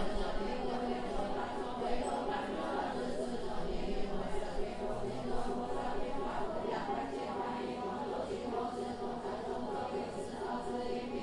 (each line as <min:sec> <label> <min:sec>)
0:00.0 singing mantra 0:11.2